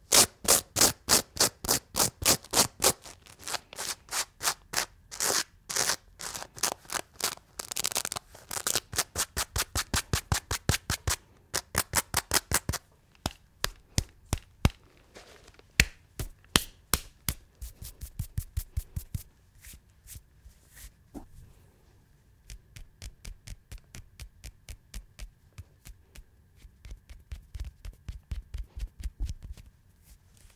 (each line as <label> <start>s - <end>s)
tear apart the clothes 0.1s - 9.9s